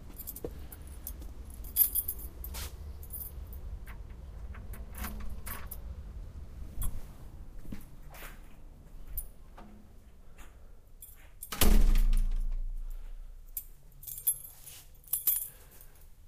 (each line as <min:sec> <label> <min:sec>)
0:00.0 footsteps 0:03.3
0:00.0 open the door to my apartment 0:13.5
0:03.6 unlock the door and open it 0:06.0
0:06.8 footsteps 0:11.4
0:10.4 find my keys 0:16.2
0:11.4 unlock the door and open it 0:12.7
0:13.6 throwing the keys on the table 0:15.9